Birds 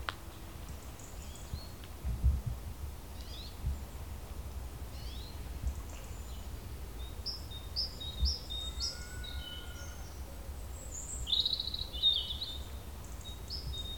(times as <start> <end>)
0.0 1.9, 4.9 13.9